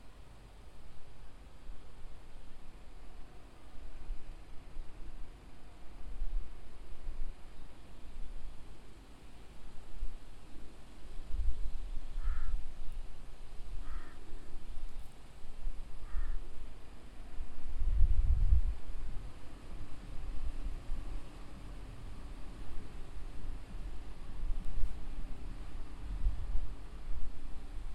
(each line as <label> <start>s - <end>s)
crows 12.2s - 12.6s
crows 13.8s - 14.5s
crows 16.0s - 16.4s